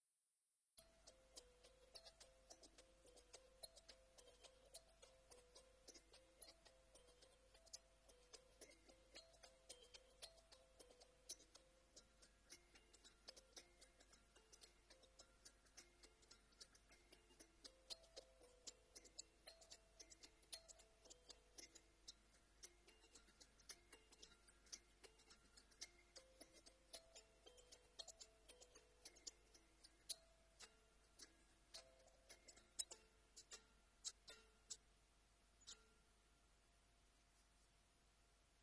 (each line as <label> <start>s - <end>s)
kalimba 0.8s - 34.8s